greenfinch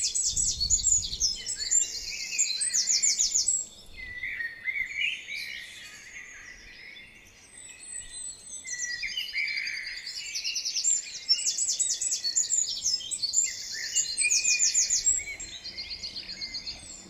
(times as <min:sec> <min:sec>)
0:08.0 0:17.0